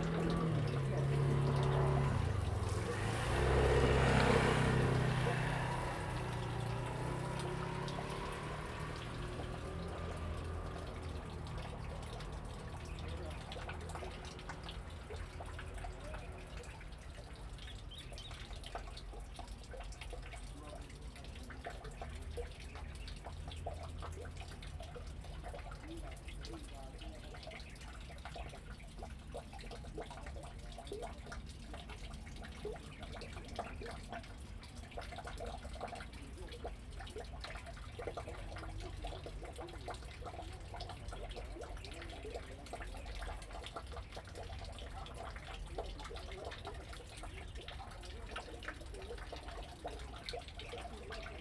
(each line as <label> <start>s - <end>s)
Traffic Sound 0.0s - 20.2s
Birds singing 16.0s - 19.0s